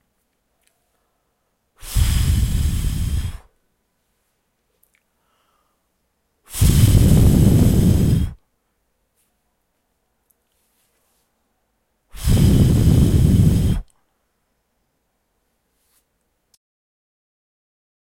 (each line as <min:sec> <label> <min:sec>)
0:01.8 Blowing into Mic 0:03.6
0:06.5 Blowing into Mic 0:08.4
0:12.1 Blowing into Mic 0:13.9